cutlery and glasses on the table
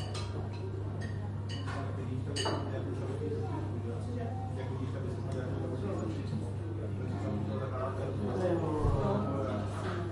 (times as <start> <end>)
0.0 2.7